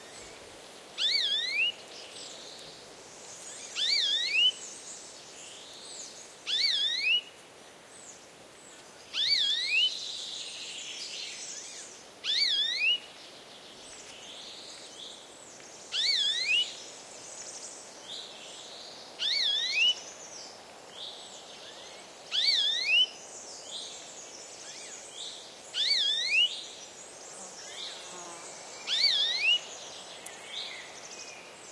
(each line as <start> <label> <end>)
0.0 Soft wind on trees 31.7
0.0 insects fly around 31.7
1.0 bird (maybe a Chiffchaff, but can't be sure) reiteratively calls 1.8
1.0 Warbler 2.4
3.4 Warbler 7.3
6.5 bird (maybe a Chiffchaff, but can't be sure) reiteratively calls 7.2
21.1 Warbler 31.7
22.3 bird (maybe a Chiffchaff, but can't be sure) reiteratively calls 23.1
25.8 bird (maybe a Chiffchaff, but can't be sure) reiteratively calls 26.5
28.9 bird (maybe a Chiffchaff, but can't be sure) reiteratively calls 29.6